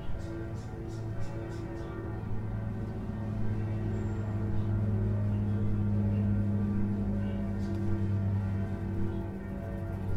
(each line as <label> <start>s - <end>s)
birds 0.0s - 2.4s
distant bells 0.0s - 7.1s